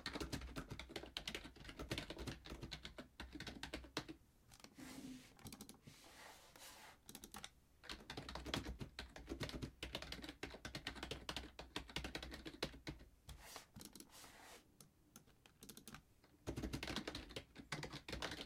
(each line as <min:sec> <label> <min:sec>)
0:00.0 Typing on a keyboard 0:04.7
0:05.4 Typing on a keyboard 0:05.8
0:07.1 Typing on a keyboard 0:13.1
0:13.8 Typing on a keyboard 0:14.1
0:15.1 Typing on a keyboard 0:18.4